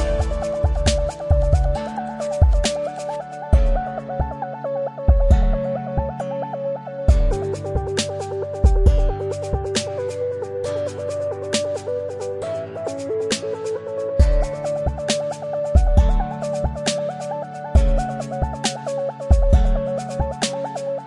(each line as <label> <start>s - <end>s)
scratch 0.0s - 3.5s
drums 0.0s - 4.3s
drums 5.1s - 5.6s
drums 7.1s - 10.2s
drums 13.0s - 20.8s